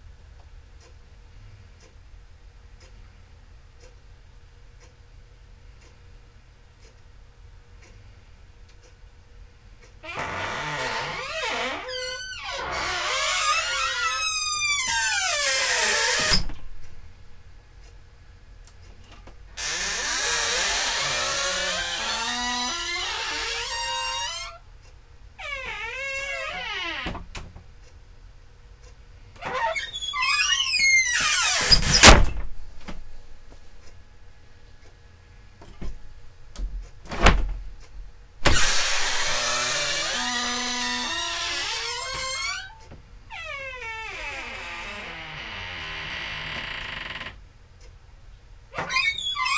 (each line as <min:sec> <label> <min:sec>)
0:10.0 creaky wooden door 0:17.0
0:19.6 creaky wooden door 0:24.6
0:25.4 creaky wooden door 0:27.5
0:29.4 creaky wooden door 0:33.0
0:37.1 creaky wooden door 0:37.6
0:38.4 creaky wooden door 0:47.4
0:48.8 creaky wooden door 0:49.5